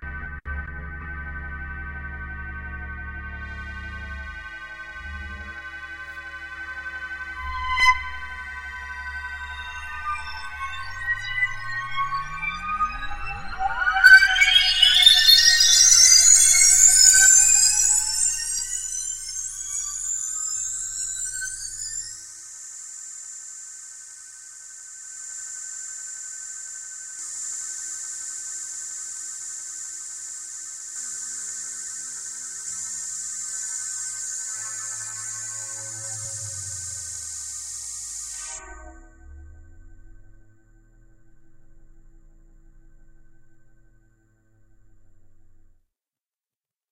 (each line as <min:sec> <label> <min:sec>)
0:00.0 Glitched Oscillations 5 - stutter 0:22.3
0:27.5 Glitched Oscillations 5 - stutter 0:43.9